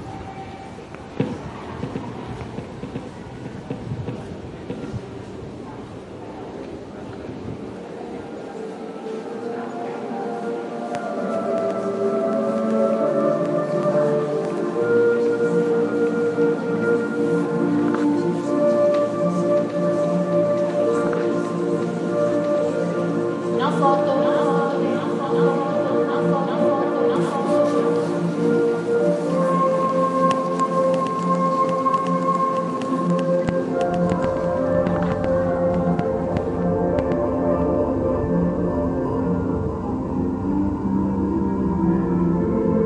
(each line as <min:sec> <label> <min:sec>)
0:00.0 people 0:42.8